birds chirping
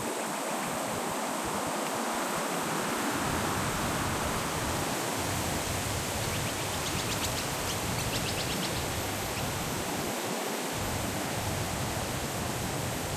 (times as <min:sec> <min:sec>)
0:06.0 0:09.8